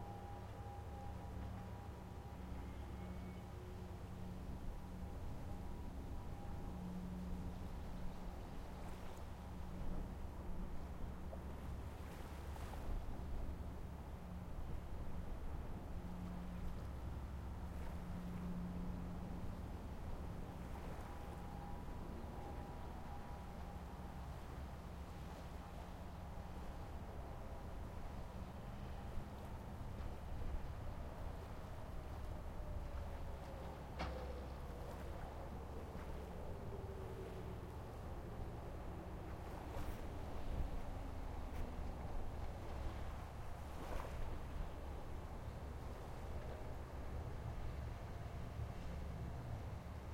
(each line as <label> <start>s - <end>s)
civil defense siren warning system test 0.0s - 11.2s
civil defense siren warning system test 14.4s - 50.0s